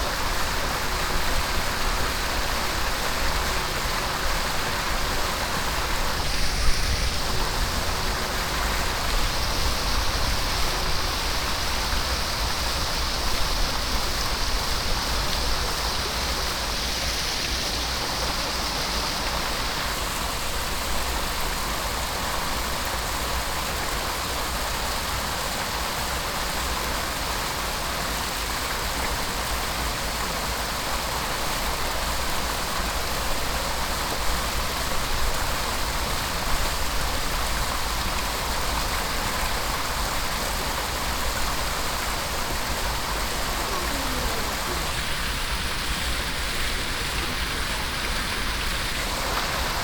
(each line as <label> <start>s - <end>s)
cascade of a 3 level fountain 0.0s - 49.8s
child playing hide and seek with his father 43.4s - 45.6s